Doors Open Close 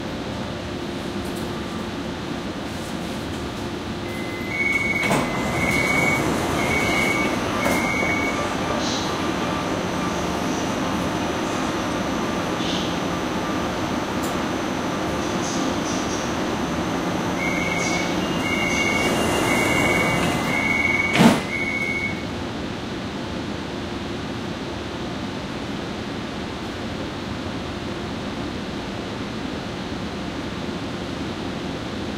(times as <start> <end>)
2.9 9.9, 17.1 22.3